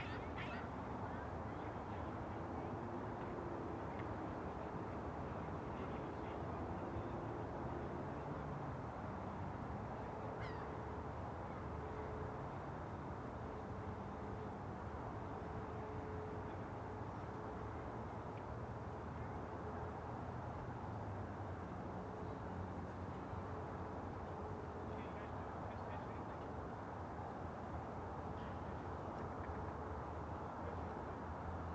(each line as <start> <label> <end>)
10.4 crows 10.7